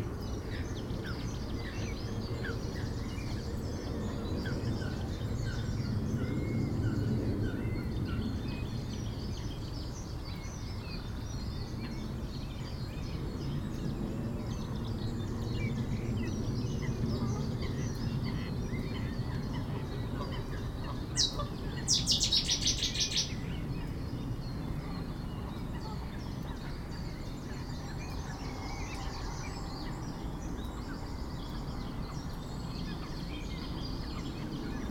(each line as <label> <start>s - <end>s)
Common Blackbird 0.0s - 34.9s
Common Chaffinch 0.0s - 34.9s
Common Moorhen 0.0s - 34.9s
plane 0.0s - 34.9s
Mute swans 16.8s - 21.9s